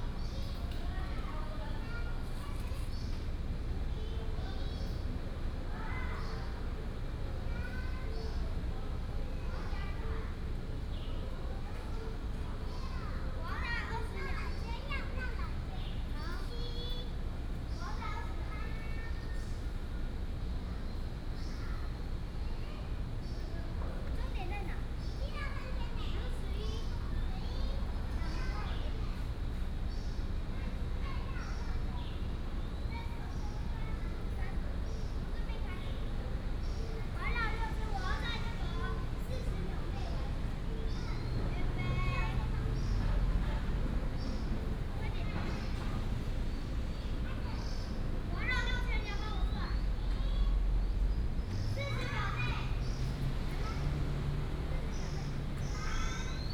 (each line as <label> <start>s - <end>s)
children 0.0s - 56.5s